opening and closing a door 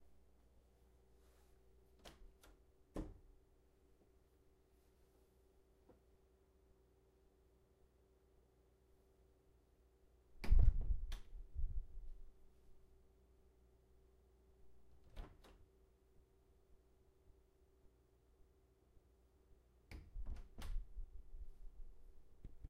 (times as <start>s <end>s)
2.0s 3.3s, 10.4s 11.4s, 14.9s 15.7s, 19.9s 21.0s